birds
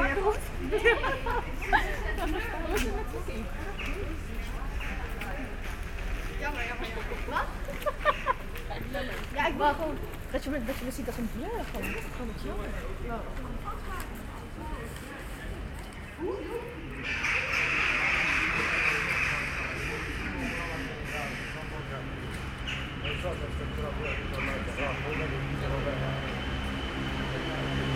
22.5s 25.7s

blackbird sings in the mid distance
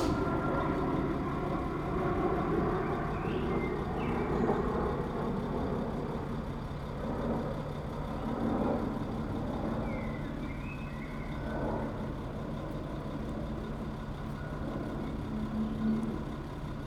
9.8s 11.3s

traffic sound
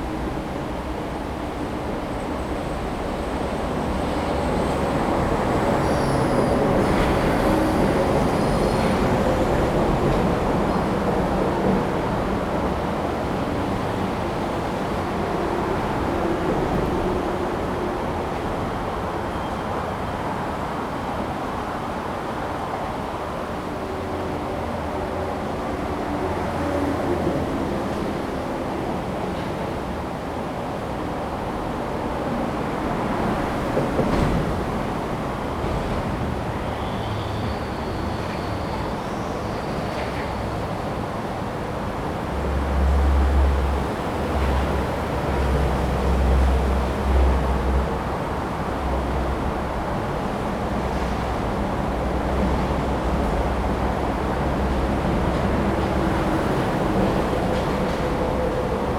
0.0s 19.3s, 32.1s 58.9s

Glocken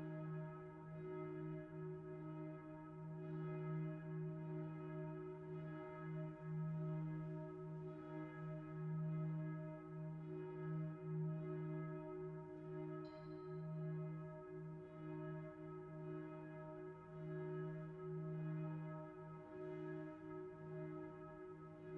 13.0s 13.7s

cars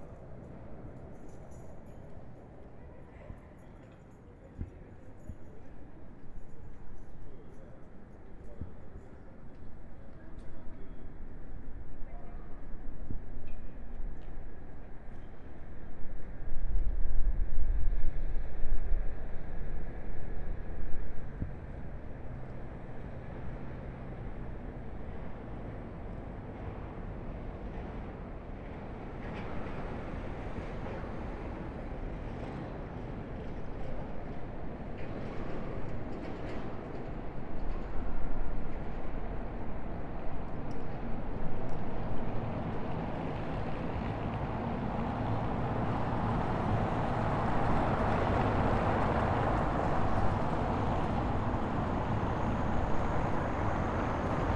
17.8s 54.5s

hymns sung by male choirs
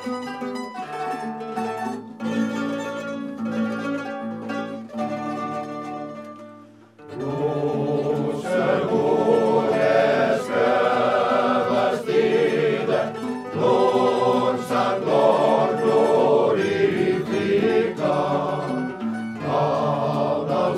7.2s 20.7s

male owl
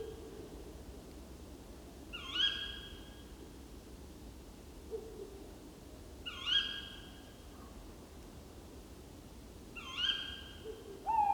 11.0s 11.3s

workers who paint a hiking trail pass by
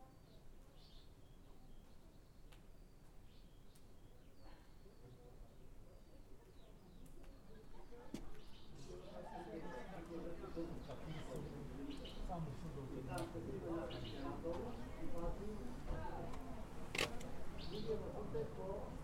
4.8s 19.0s

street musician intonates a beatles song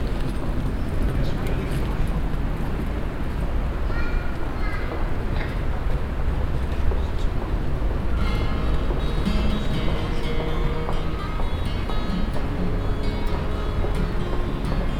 7.0s 14.9s

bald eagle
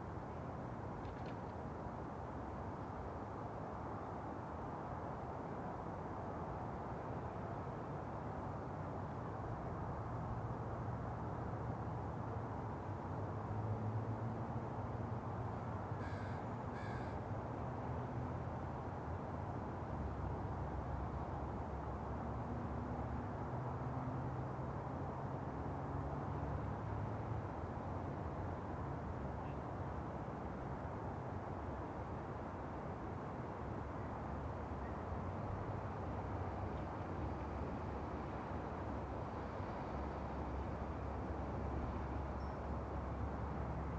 16.0s 17.2s

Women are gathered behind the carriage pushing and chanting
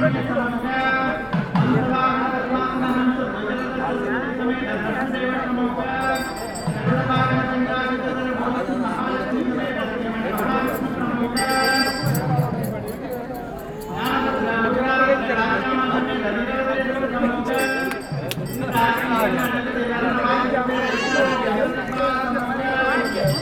5.5s 23.4s

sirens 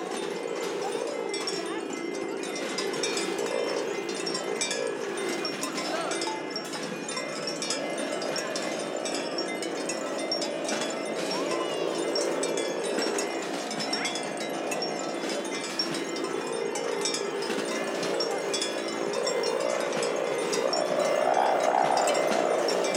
18.1s 22.9s

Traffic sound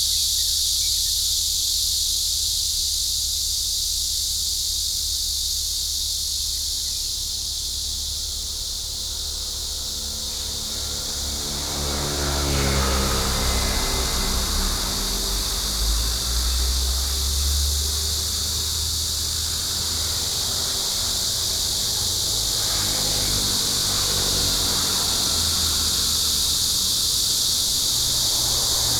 7.1s 28.9s

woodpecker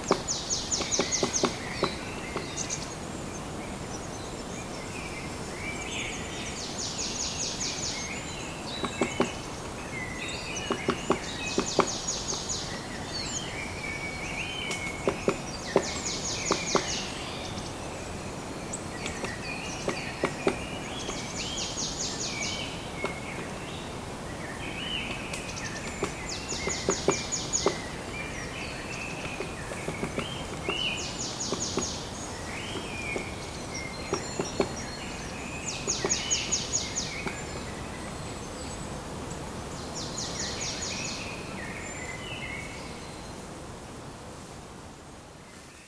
0.0s 3.5s, 8.1s 13.4s, 14.4s 17.3s, 18.7s 23.5s, 25.0s 37.6s

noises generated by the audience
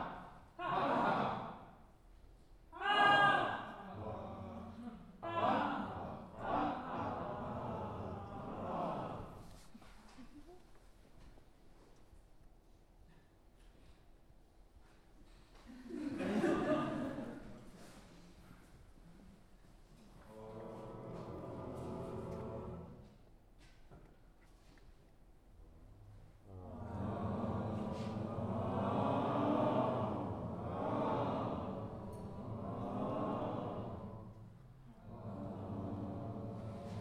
15.8s 23.2s, 26.4s 37.0s

